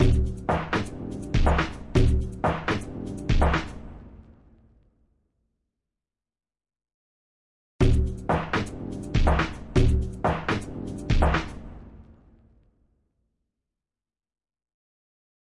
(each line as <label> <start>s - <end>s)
bass 0.0s - 3.7s
bass 7.8s - 11.4s